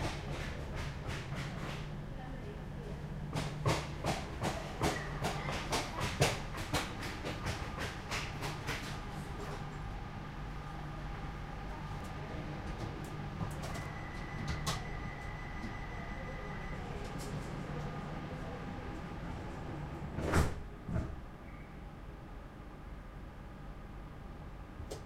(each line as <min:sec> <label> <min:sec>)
0:00.0 commuter train 0:25.0